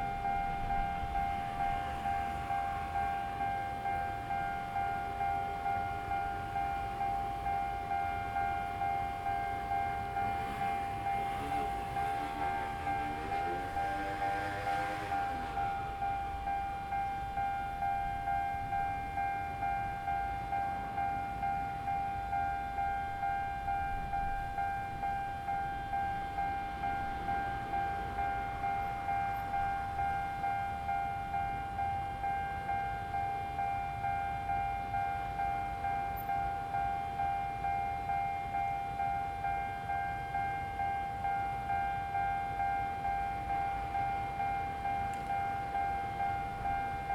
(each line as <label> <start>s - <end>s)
Traffic sound 0.0s - 47.1s
Train traveling through 0.0s - 47.1s